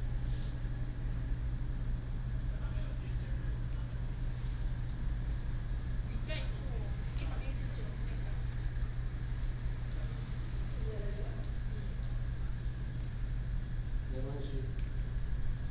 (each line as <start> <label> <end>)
0.0 Air conditioning sound 15.7
5.9 Tourists, Chat 13.2